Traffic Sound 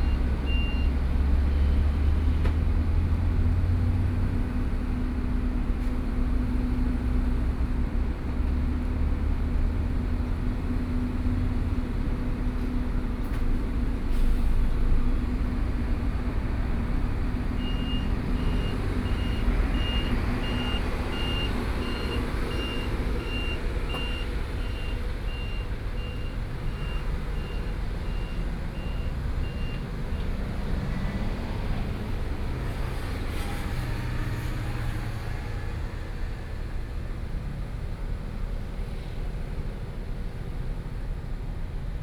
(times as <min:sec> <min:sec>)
0:12.4 0:40.1